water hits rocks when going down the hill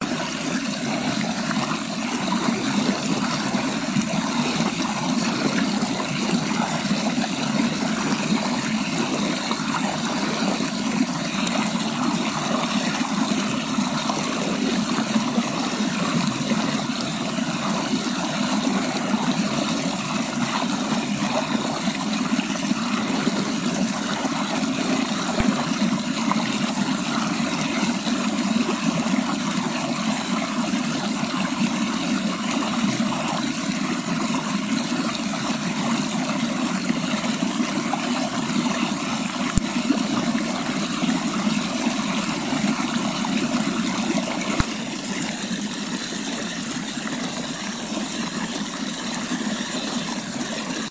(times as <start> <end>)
25.0 26.5